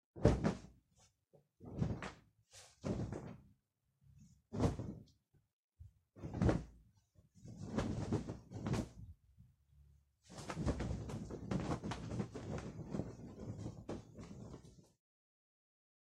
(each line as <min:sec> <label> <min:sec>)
0:00.2 fabric 0:03.5
0:04.5 fabric 0:05.1
0:06.2 fabric 0:09.2
0:10.3 fabric 0:15.0